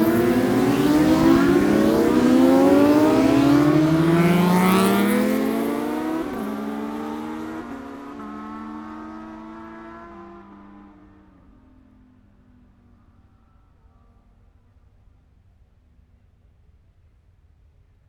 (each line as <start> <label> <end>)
0.0 Motorcycle Road Racing 11.9